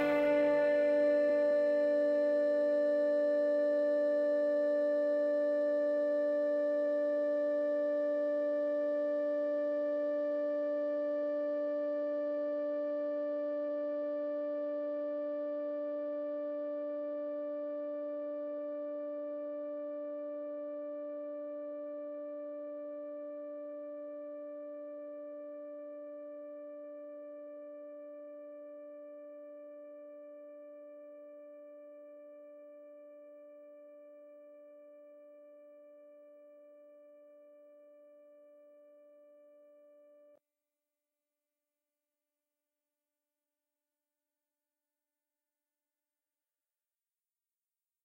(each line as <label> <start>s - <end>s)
Drone 0.0s - 2.5s